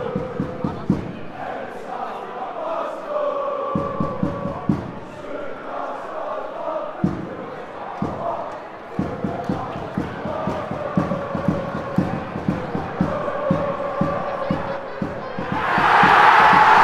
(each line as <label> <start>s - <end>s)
Supporters chanting 0.0s - 16.8s
loud roar comes from the home teams supporters 15.4s - 16.8s